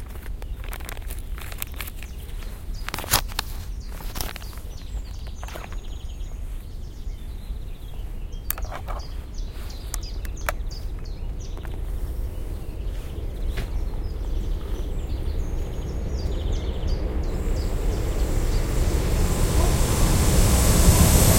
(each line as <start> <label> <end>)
0.0 birds keep singing 21.3
12.4 airplane passes 21.3
13.0 traffic 21.3
15.1 local train on the railway 21.3
15.8 freighttrain passes 21.3